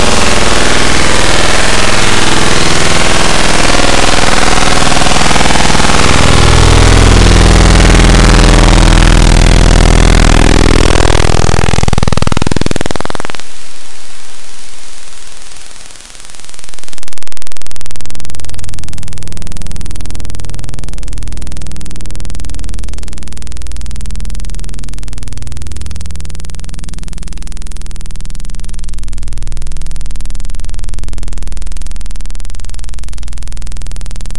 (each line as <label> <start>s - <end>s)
machine drones 0.0s - 17.2s
static feedback 0.0s - 34.3s